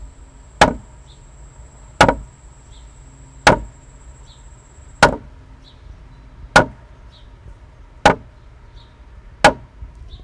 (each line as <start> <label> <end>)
0.6 Slow hammering of a metal hammer on wood surface 0.9
2.0 Slow hammering of a metal hammer on wood surface 2.3
3.4 Slow hammering of a metal hammer on wood surface 3.7
5.0 Slow hammering of a metal hammer on wood surface 5.3
6.6 Slow hammering of a metal hammer on wood surface 6.8
8.0 Slow hammering of a metal hammer on wood surface 8.3
9.4 Slow hammering of a metal hammer on wood surface 9.7